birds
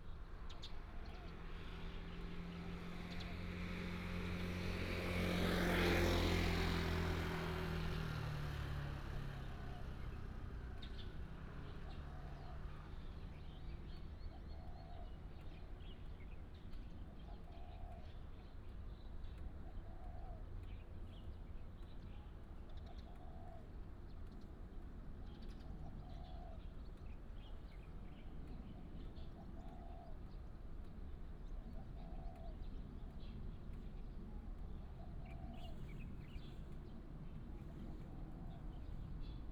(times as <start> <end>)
11.8 39.5